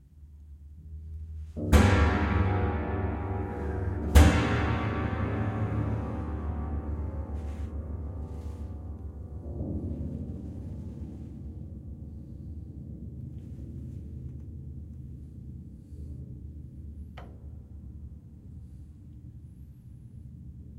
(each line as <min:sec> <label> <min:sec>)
0:01.4 old bare piano soundboard manipulated in various ways 0:11.7